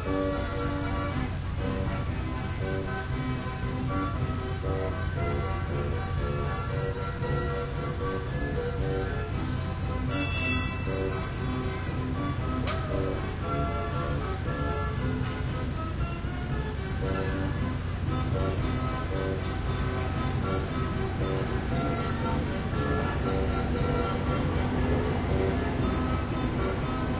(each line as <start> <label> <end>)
0.0 carousel 27.1